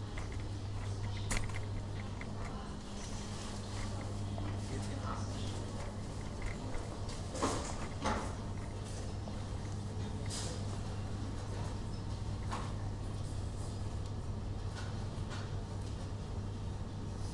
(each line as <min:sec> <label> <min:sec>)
0:00.0 people talking 0:08.4